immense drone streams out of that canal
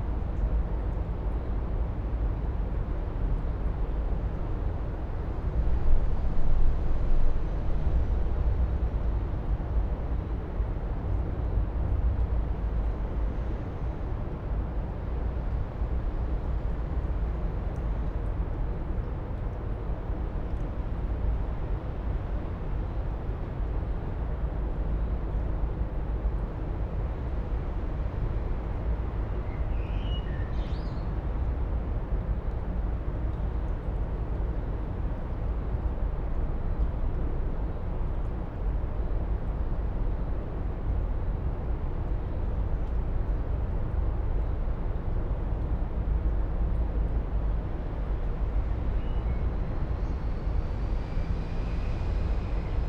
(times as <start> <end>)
47.8 52.8